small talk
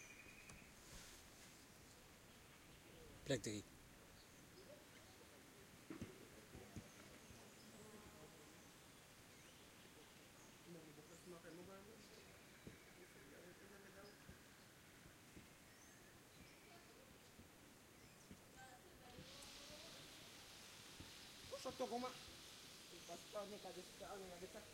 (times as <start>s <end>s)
16.4s 24.7s